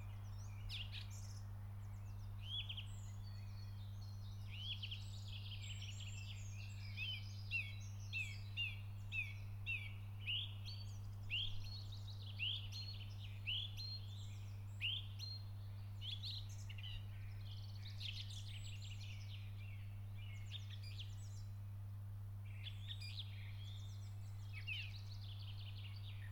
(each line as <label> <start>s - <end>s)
birds 0.0s - 26.3s